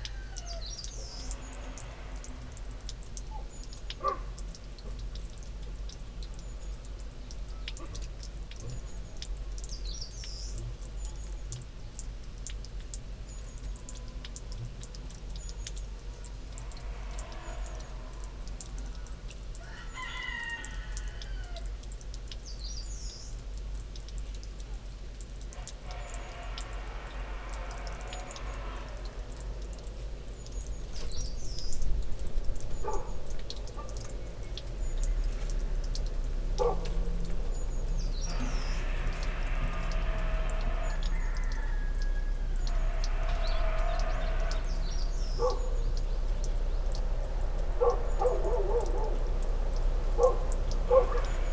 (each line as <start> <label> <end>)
0.0 rooster 1.5
19.6 rooster 21.9
25.6 wind through nearby fur trees 51.5
36.6 coughing dog 37.5
38.2 rooster 45.8
45.4 coughing dog 45.8
50.2 coughing dog 51.5